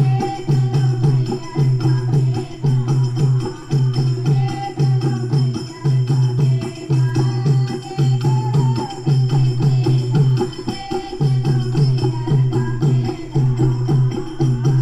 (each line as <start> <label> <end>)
0.0 group of women 14.8
0.0 percussion accompanies the singers 14.8